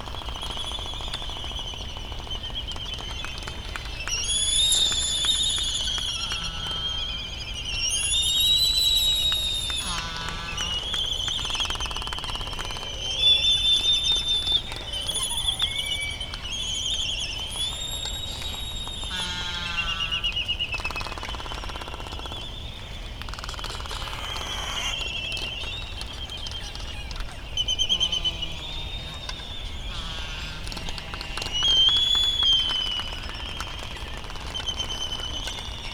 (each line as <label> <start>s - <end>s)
slight breeze 0.0s - 35.9s
Bonin petrel calls 0.1s - 20.5s
laysan albatross calls 9.7s - 11.1s
laysan albatross calls 19.0s - 20.4s
Bonin petrel calls 23.6s - 33.6s
laysan albatross calls 26.6s - 32.8s